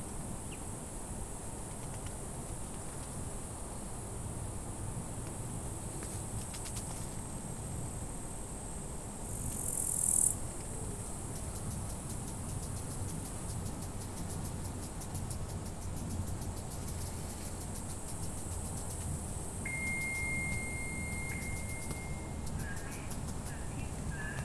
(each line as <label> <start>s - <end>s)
Insects 0.0s - 24.4s
birds 21.2s - 24.4s